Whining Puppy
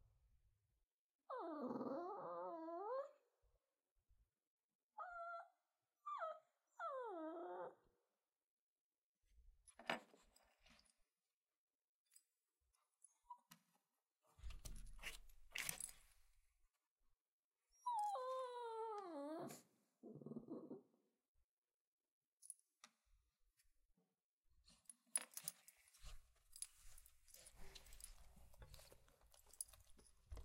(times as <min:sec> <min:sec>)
0:01.3 0:03.2, 0:05.0 0:07.9, 0:17.7 0:20.9